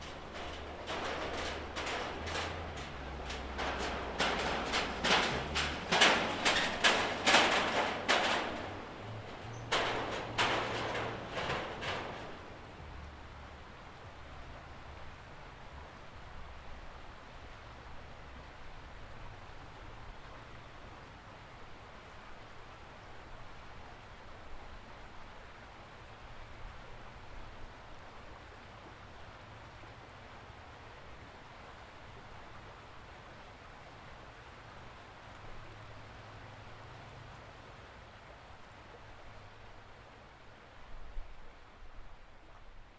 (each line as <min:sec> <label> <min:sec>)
0:00.0 cars pass occasionally over the nearby metal bridge 0:42.9
0:00.0 river 0:42.9